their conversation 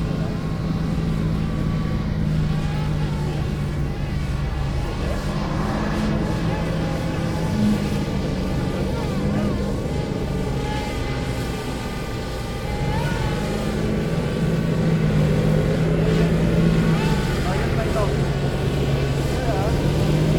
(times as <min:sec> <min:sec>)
0:15.2 0:20.3